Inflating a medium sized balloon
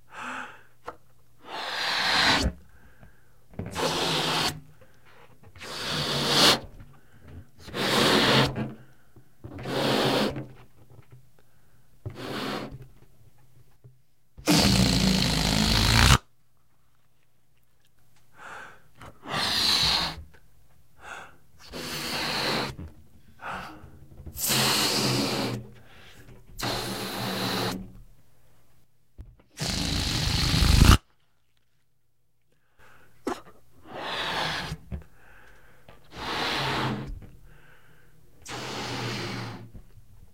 1.4s 2.8s, 3.6s 10.6s, 12.0s 12.9s, 14.4s 16.2s, 19.2s 20.3s, 21.0s 28.0s, 29.5s 31.0s, 33.8s 35.1s, 36.0s 37.8s, 38.4s 39.9s

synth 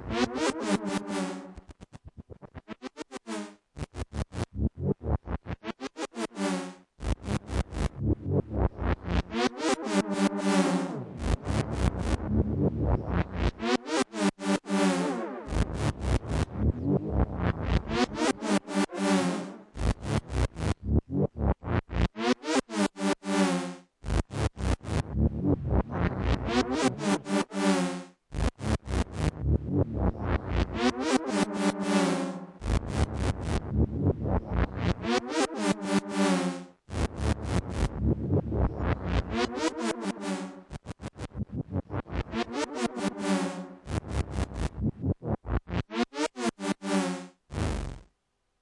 30.0s 36.5s, 38.6s 40.8s, 41.4s 44.6s

